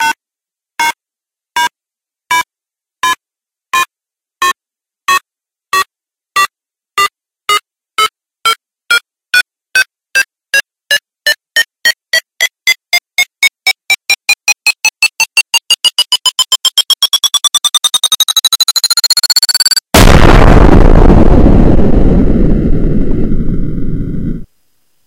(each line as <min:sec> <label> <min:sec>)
0:03.8 ticking bomb-like countdown 0:19.9
0:20.0 boom 0:24.4